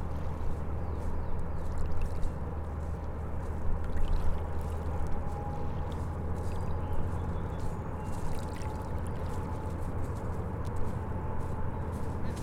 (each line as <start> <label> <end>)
0.0 helicopter flying overhead 12.4
2.4 Ferry departure 8.1